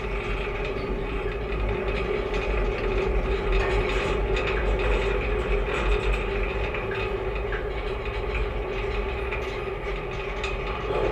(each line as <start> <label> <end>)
0.0 guide wires of the small pedestrian suspension bridge 11.1